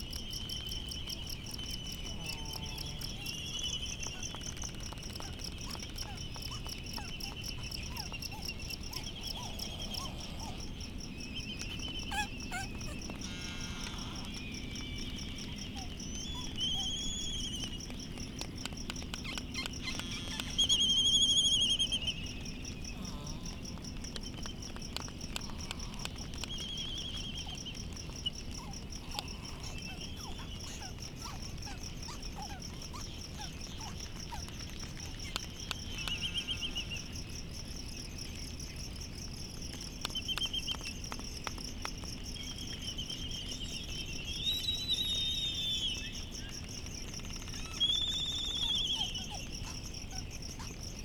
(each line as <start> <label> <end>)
0.0 cricket 51.0
0.4 white terns 38.0
1.5 laysan albatross 38.9
4.1 distant black-footed albatross 37.1
39.6 laysan albatross 51.0
40.1 white terns 51.0